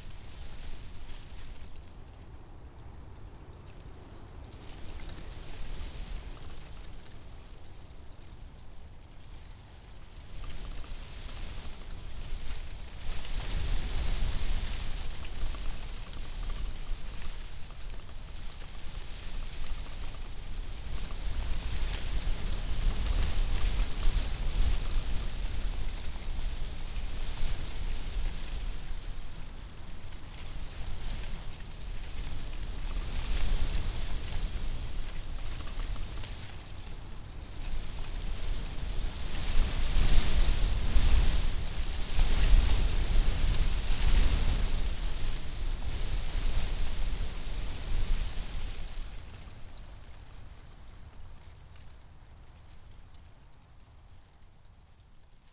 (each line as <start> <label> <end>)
0.0 dried oak leaves in the wind 55.5